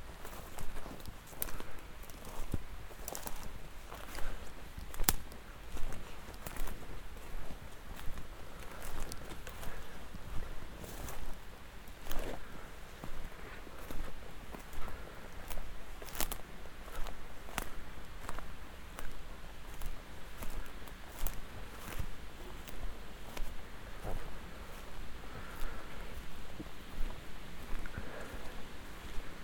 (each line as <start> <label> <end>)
0.0 walk thru high grass and dry branches 29.4